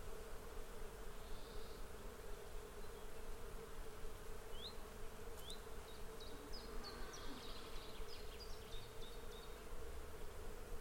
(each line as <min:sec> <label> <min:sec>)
0:00.0 bees 0:10.8
0:01.1 birds 0:03.4
0:04.4 birds 0:10.4